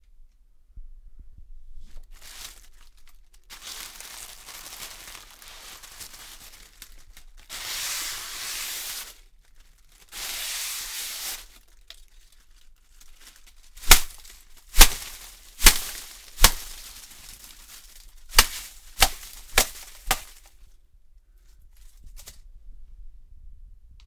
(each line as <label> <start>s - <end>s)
dried flowers being dragged and hit on the floor 1.8s - 9.3s
dried flowers being dragged and hit on the floor 10.0s - 11.6s
dried flowers being dragged and hit on the floor 13.0s - 20.6s